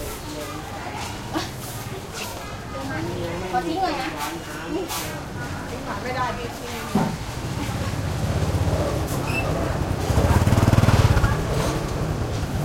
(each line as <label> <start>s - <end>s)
side street market morning activity 0.0s - 12.6s
motorcycles 7.2s - 12.6s